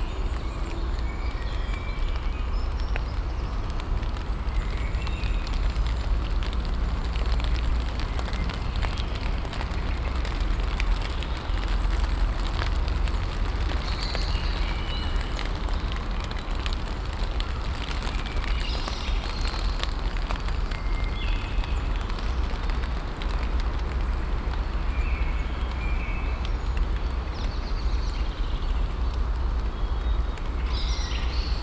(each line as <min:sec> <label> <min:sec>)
0:00.0 Light rain falling on the leaves 0:31.6